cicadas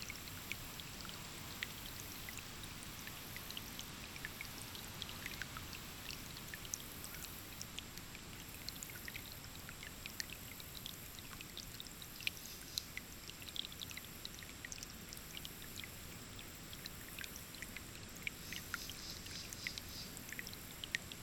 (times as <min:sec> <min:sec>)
0:12.2 0:14.4, 0:15.3 0:21.0